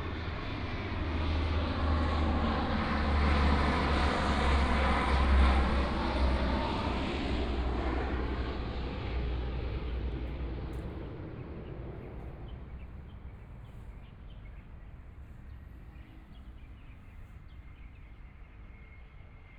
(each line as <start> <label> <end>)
0.0 Aircraft flying through 14.4
0.0 Traffic Sound 18.1
8.3 Birdsong 19.5